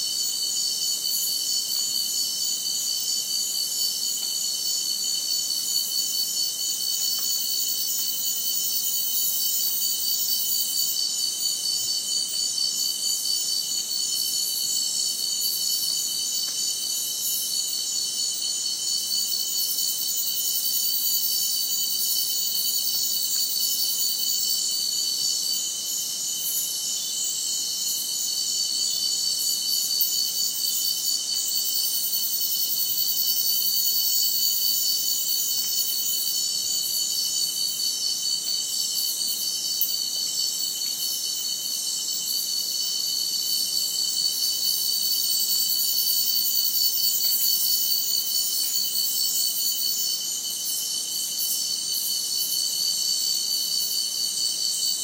cicada 0:00.0 - 0:55.0
crickets 0:00.0 - 0:55.0

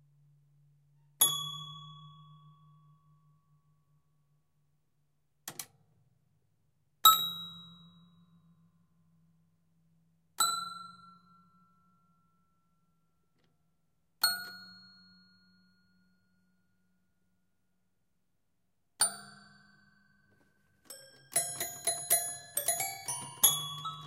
highly damaged toy piano 0:20.8 - 0:24.0

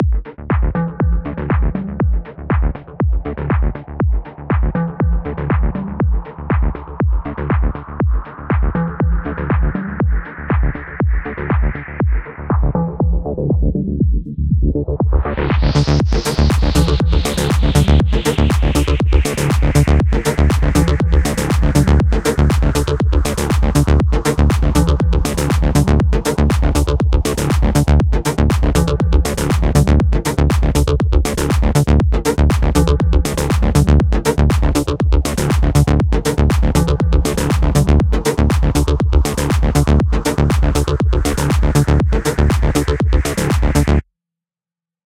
beat 0:00.0 - 0:44.0

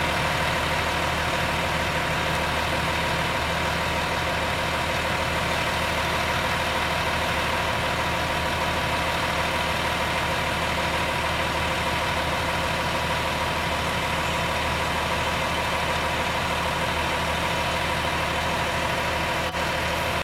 parked fire truck engine on idle 0:00.0 - 0:20.2

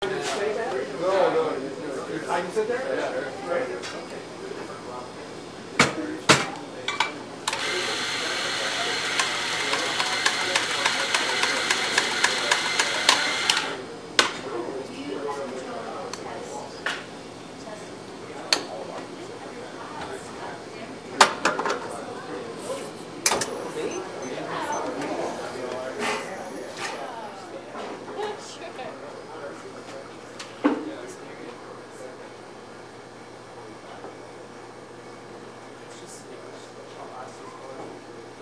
barista preparing a coffee drink 0:03.3 - 0:32.4

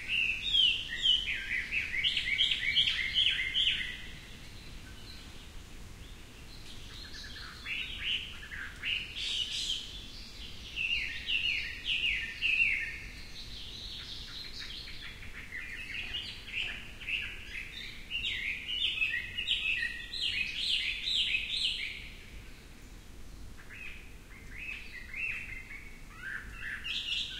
distant coqui frog calls 0:00.0 - 0:05.3
distant coqui frog calls 0:06.8 - 0:22.7

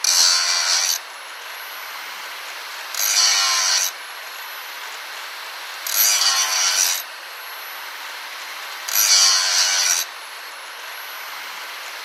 angle grinder 230mm (electric) touching steel four times 0:00.0 - 0:01.0
angle grinder 230mm (electric) touching steel four times 0:02.9 - 0:04.0
angle grinder 230mm (electric) touching steel four times 0:05.8 - 0:07.1
angle grinder 230mm (electric) touching steel four times 0:08.9 - 0:10.1

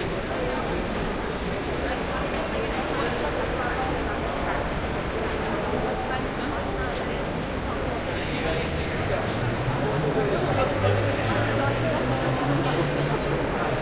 Lots of people 0:00.0 - 0:13.8

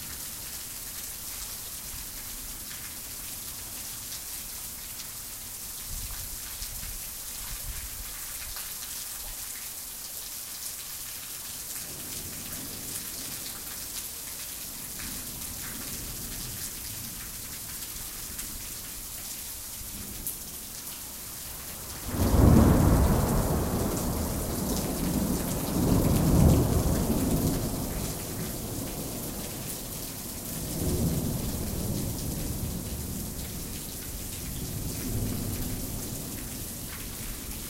rain 0:00.0 - 0:37.6
thunderclaps 0:22.0 - 0:28.6

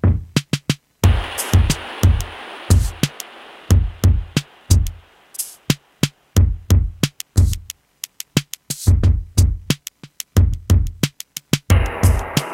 Drum Loop 0:00.0 - 0:12.5
synthesizer 0:11.7 - 0:12.5

